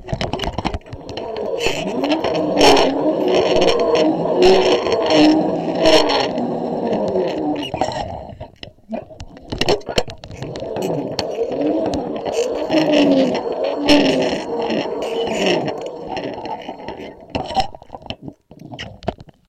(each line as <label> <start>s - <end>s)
zip-line from the pulley 0.2s - 7.9s
zip-line from the pulley 10.3s - 17.8s